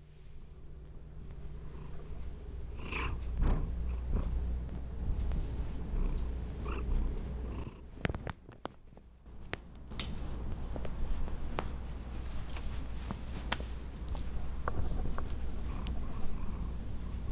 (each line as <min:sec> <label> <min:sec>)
0:01.6 Kitty Purring 0:07.9
0:14.6 Kitty Purring 0:17.3